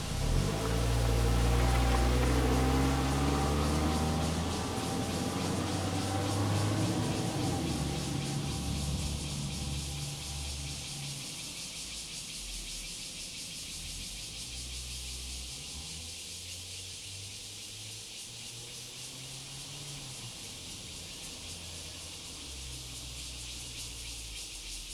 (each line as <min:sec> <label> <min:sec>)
0:00.0 traffic sound 0:11.6
0:00.0 Cicada sound 0:24.9